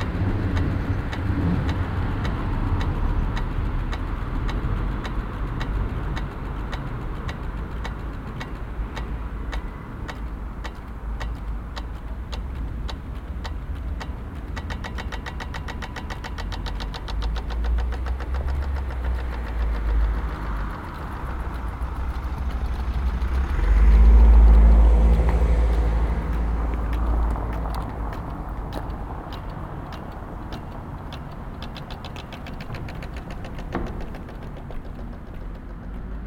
rhythmic traffic cicadas 0.0 - 36.2

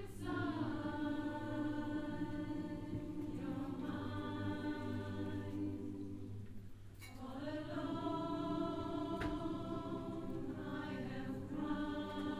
choir 0.0 - 12.3

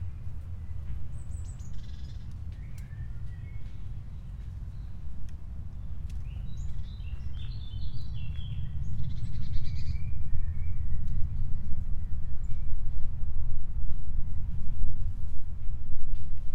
birds 0.0 - 12.7

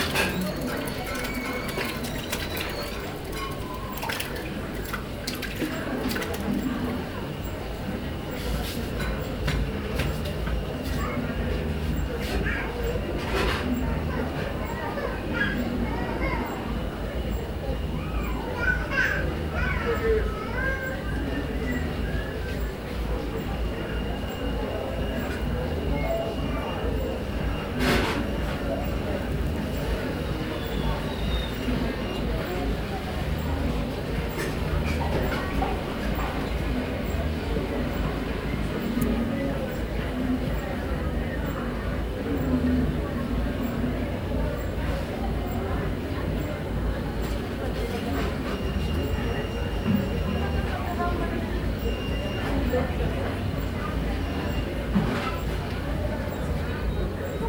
voices 0.0 - 57.4

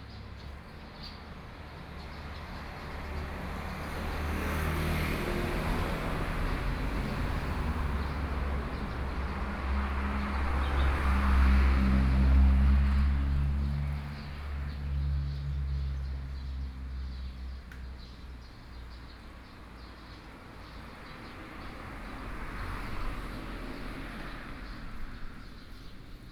Traffic Sound 0.0 - 26.3

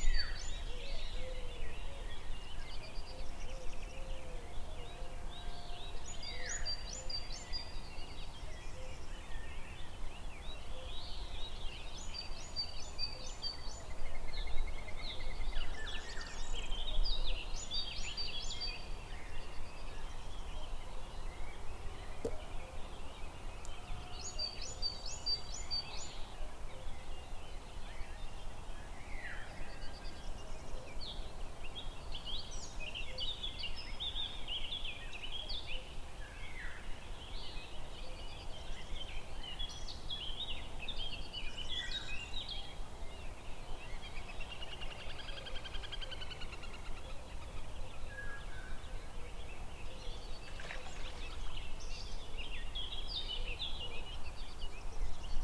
birds 0.0 - 55.4
river 0.0 - 55.4

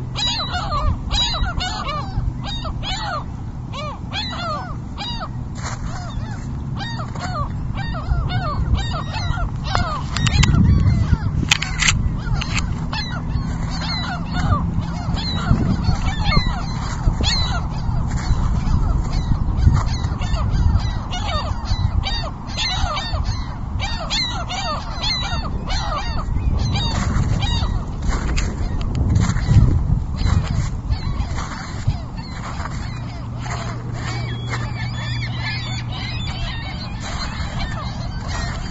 Seagulls screaming on the ice 0.0 - 38.7

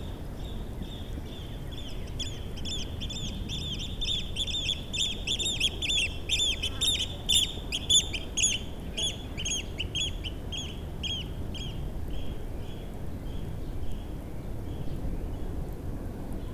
wind noise on the mics 9.4 - 16.5

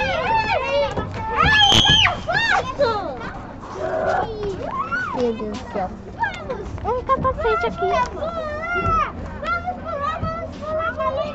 students started playing 0.0 - 5.2

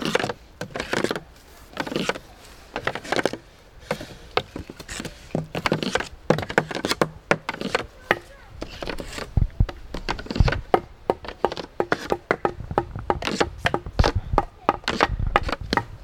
tapping and scraping a wooden fence with long sticks 0.0 - 16.0

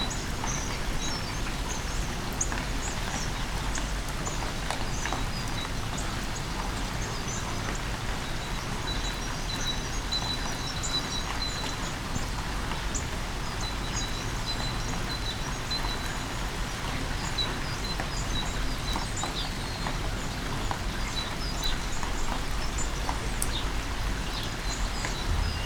Rainy day 0.0 - 25.6
bird's singing 21.0 - 25.6

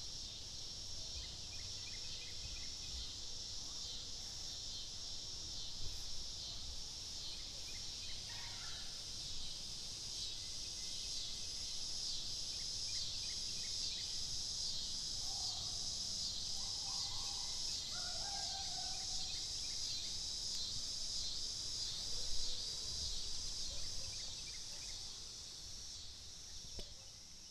Cicadas 0.0 - 27.5

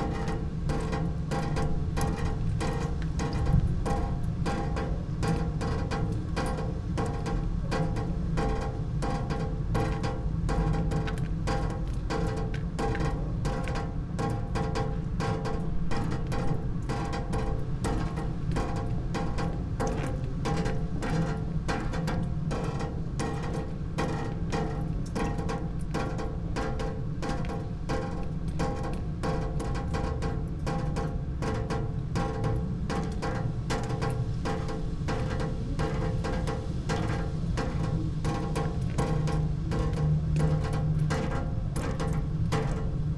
fountain with one water stream 0.0 - 43.1
wind on water 0.0 - 43.1

